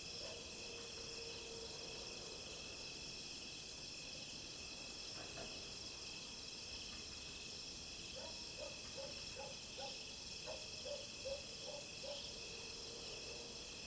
Dog barking 0:08.2 - 0:12.3

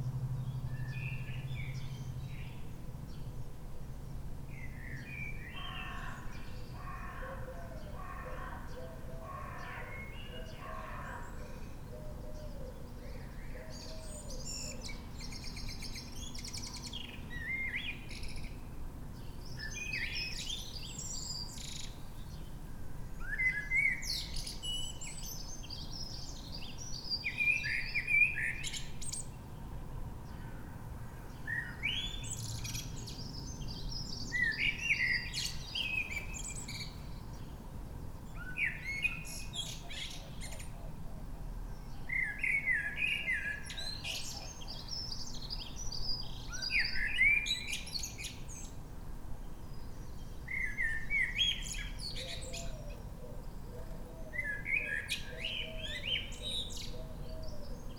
Blackbird singing 0:00.4 - 0:03.2
Blackbird singing 0:04.6 - 0:18.6
Blackbird singing 0:19.4 - 0:22.5
Blackbird singing 0:23.2 - 0:29.3
Blackbird singing 0:31.4 - 0:37.6
Blackbird singing 0:38.3 - 0:40.7
Blackbird singing 0:41.8 - 0:48.8
Blackbird singing 0:49.7 - 0:53.1
Blackbird singing 0:53.8 - 0:57.9

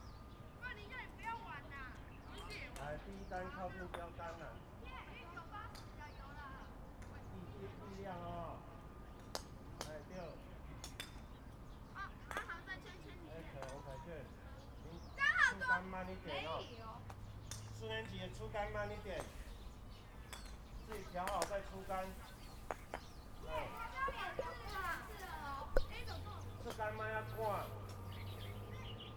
Birdsong 0:00.0 - 0:29.1
playing croquet 0:17.1 - 0:28.1
Class voice 0:23.4 - 0:27.6

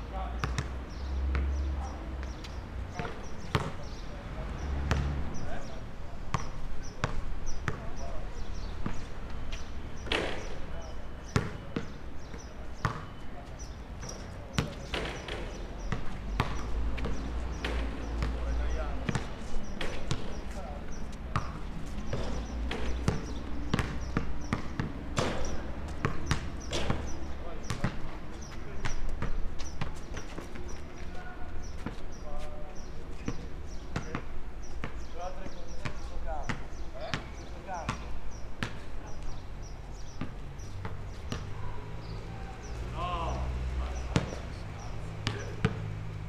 traffic 0:00.0 - 0:46.2
birds 0:00.1 - 0:46.2
people playing basket 0:06.4 - 0:10.7
people playing basket 0:14.0 - 0:32.1

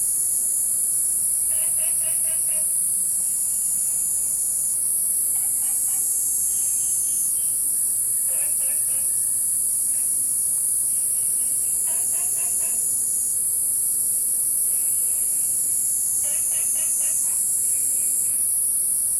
Insects called 0:00.0 - 0:19.1
Frogs chirping 0:05.3 - 0:12.9
Frogs chirping 0:14.7 - 0:18.4

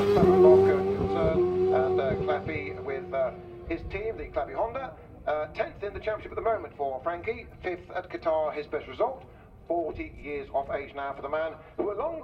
world superbikes 0:00.0 - 0:07.9
commentary 0:00.0 - 0:12.2

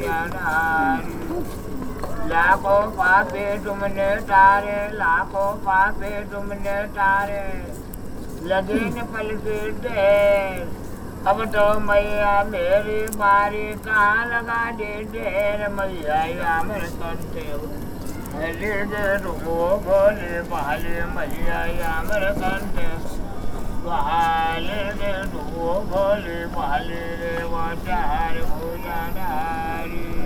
man is praying 0:00.0 - 0:30.2

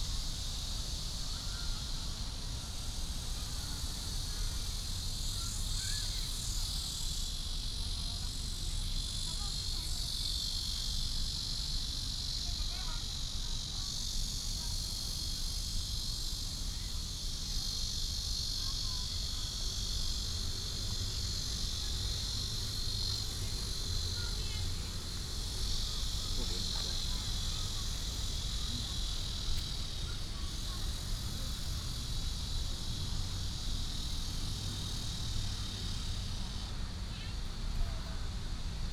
Cicadas 0:00.0 - 0:38.9
Traffic sound 0:22.3 - 0:38.9

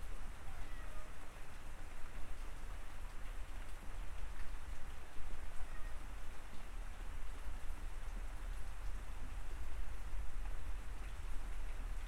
heavy rainstorm 0:00.0 - 0:12.0
cat noises 0:00.5 - 0:01.2
cat noises 0:05.6 - 0:06.0

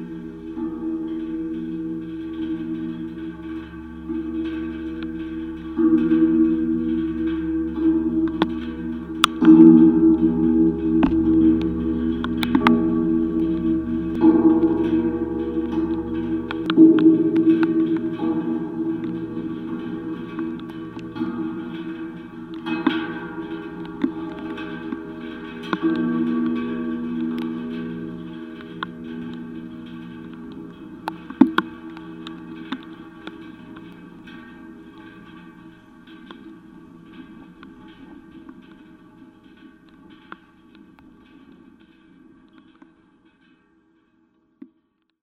metallic barrier 0:00.0 - 0:42.8

